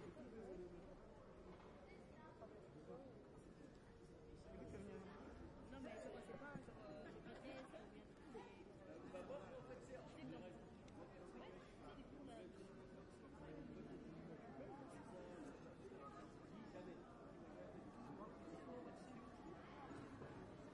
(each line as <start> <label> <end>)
0.0 people 20.7